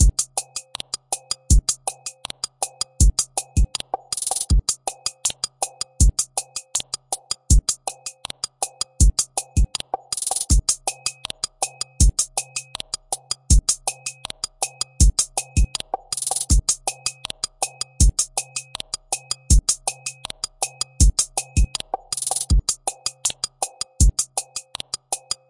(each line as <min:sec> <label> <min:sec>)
0:00.0 drum loop 0:25.4